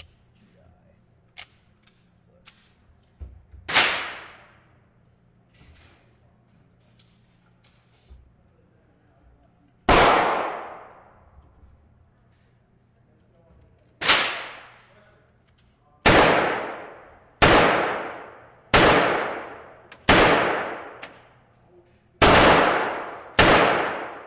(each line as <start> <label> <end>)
3.7 large bore pistols 4.6
9.8 large bore pistols 11.4
14.0 large bore pistols 21.6
22.2 large bore pistols 24.2